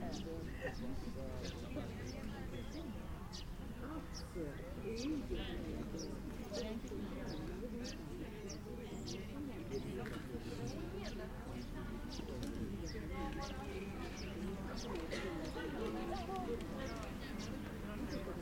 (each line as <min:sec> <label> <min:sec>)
0:00.0 people speaking 0:18.4
0:00.0 birds 0:18.4